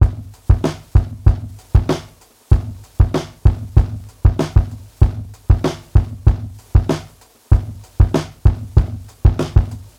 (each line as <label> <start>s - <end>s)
drum break 0.0s - 9.9s